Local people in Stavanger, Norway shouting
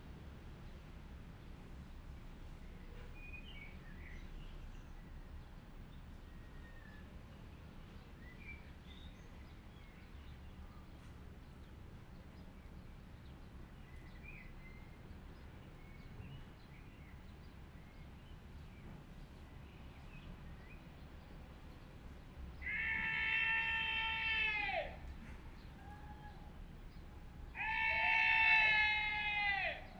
0:22.6 0:25.1, 0:27.5 0:29.9

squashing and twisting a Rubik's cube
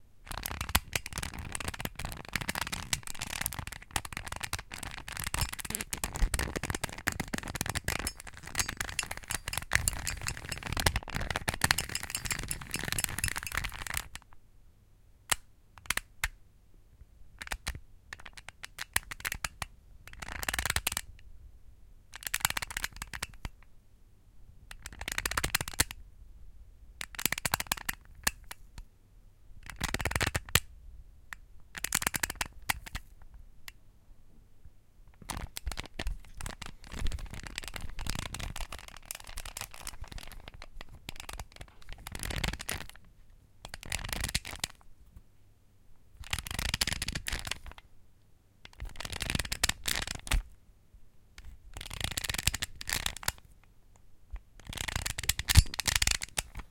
0:00.3 0:14.2, 0:15.3 0:16.3, 0:17.4 0:21.1, 0:22.2 0:23.5, 0:24.7 0:26.0, 0:27.0 0:28.6, 0:31.7 0:33.0, 0:35.2 0:43.0, 0:43.6 0:44.8, 0:46.2 0:47.8, 0:48.7 0:50.5, 0:51.4 0:53.5, 0:54.3 0:56.7

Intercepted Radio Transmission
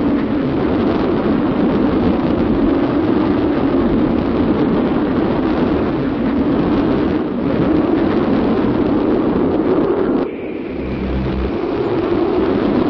0:10.2 0:12.8

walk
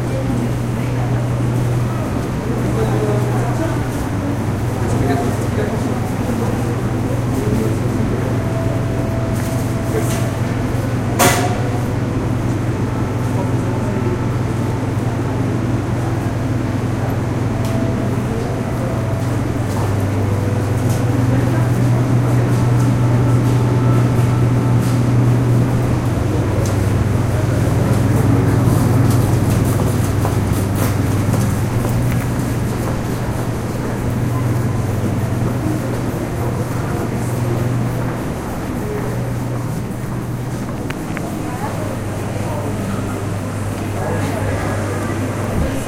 0:26.0 0:42.3

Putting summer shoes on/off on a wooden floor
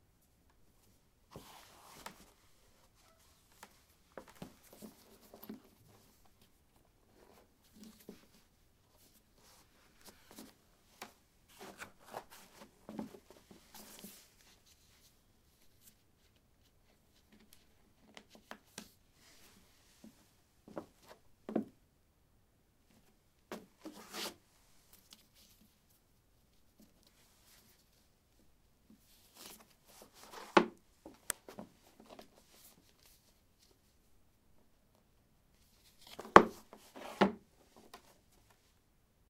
0:36.1 0:37.4

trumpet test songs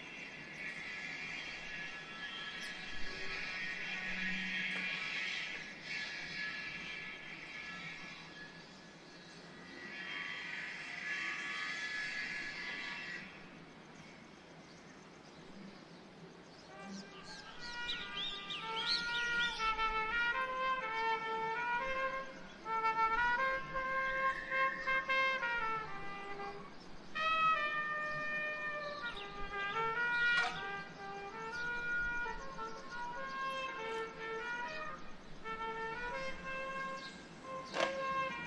0:16.7 0:38.4

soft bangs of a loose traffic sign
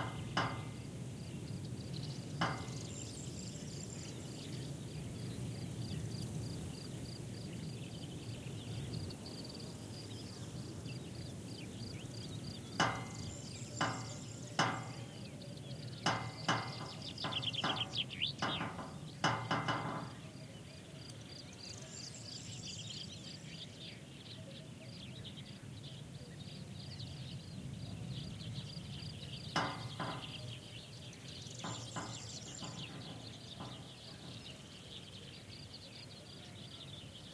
0:00.0 0:01.6, 0:02.2 0:03.5, 0:12.3 0:15.3, 0:15.9 0:20.3, 0:29.5 0:34.7

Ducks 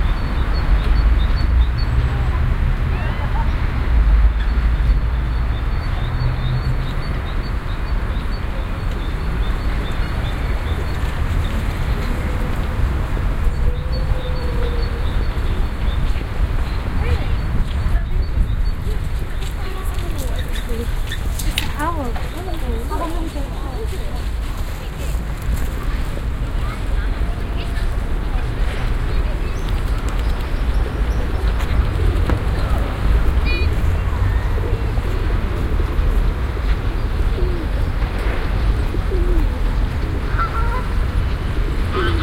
0:40.2 0:42.2

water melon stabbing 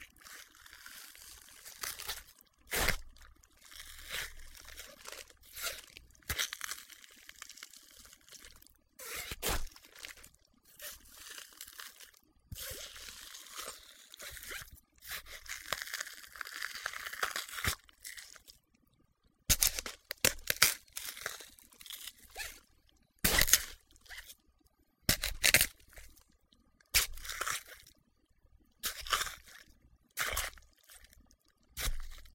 0:01.1 0:07.6, 0:08.4 0:11.9, 0:12.6 0:18.3, 0:19.5 0:22.6, 0:23.2 0:24.3, 0:25.1 0:26.1, 0:26.9 0:27.8, 0:28.8 0:31.2, 0:31.8 0:32.3

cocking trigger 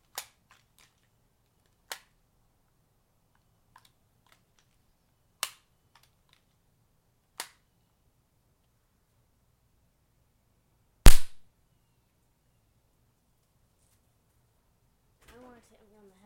0:11.1 0:11.4

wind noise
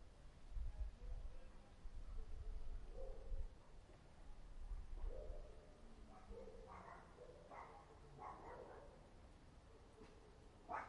0:00.0 0:03.6

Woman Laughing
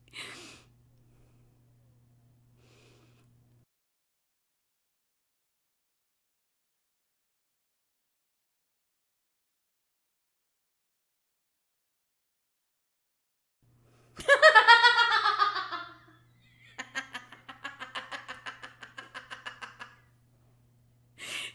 0:14.2 0:20.0

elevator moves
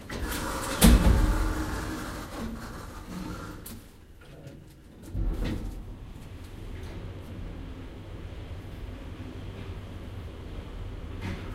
0:00.0 0:03.9

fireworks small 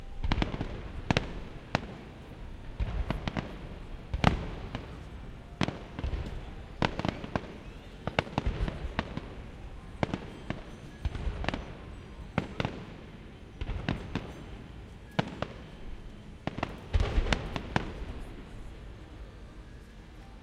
0:00.0 0:15.8

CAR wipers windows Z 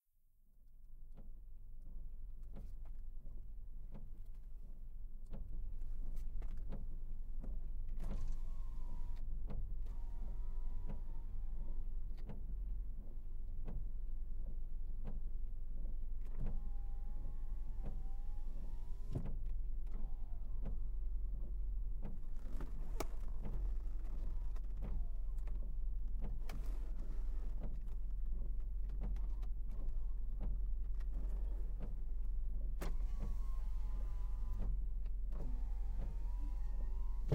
0:16.3 0:37.3

